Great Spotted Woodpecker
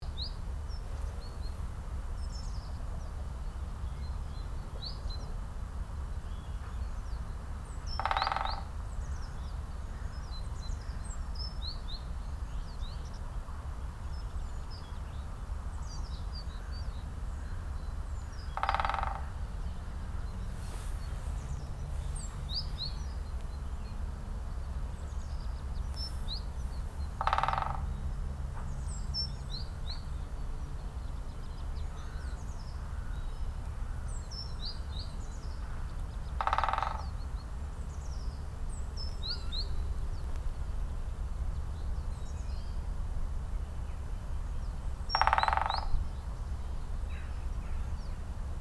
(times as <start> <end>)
7.8 10.0, 16.0 24.0, 24.6 29.3, 31.4 41.2, 44.6 48.2